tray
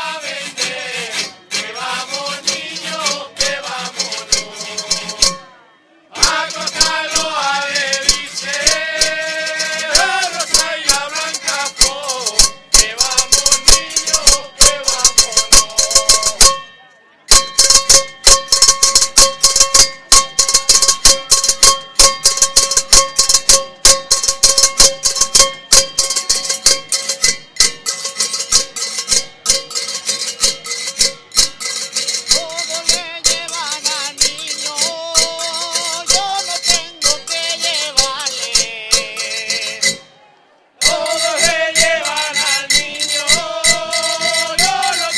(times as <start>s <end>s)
0.6s 5.5s, 6.2s 16.7s, 40.8s 45.1s